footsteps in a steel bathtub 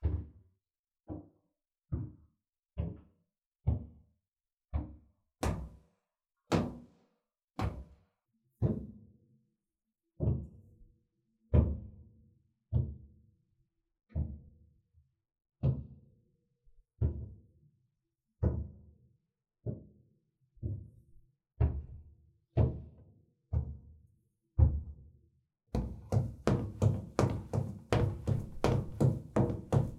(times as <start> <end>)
25.8 29.9